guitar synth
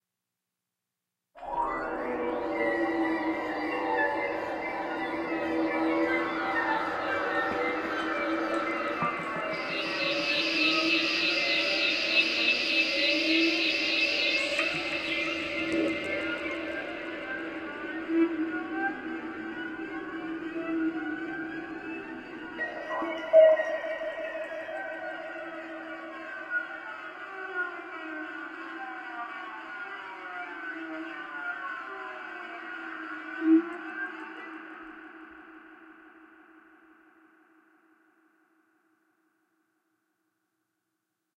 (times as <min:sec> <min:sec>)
0:01.4 0:20.5